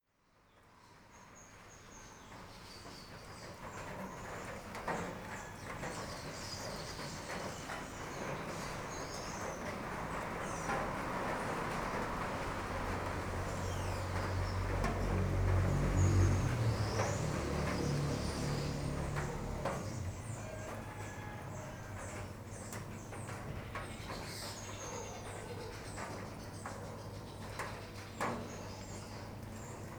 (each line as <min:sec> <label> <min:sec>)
0:00.8 rain 0:29.9
0:03.3 trucks 0:25.0
0:07.4 cars 0:23.6
0:11.5 mopeds 0:20.8